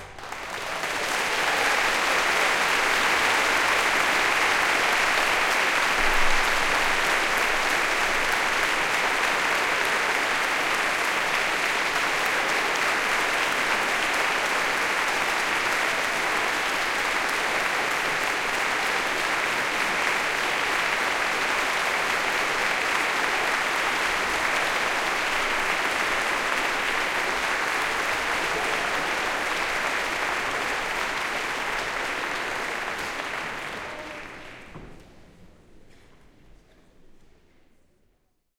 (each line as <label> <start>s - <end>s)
huge round of applause 0.0s - 35.4s